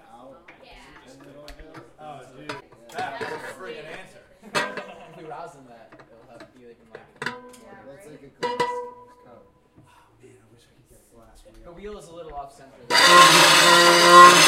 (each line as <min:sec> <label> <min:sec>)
0:12.9 Intonarumori 0:14.4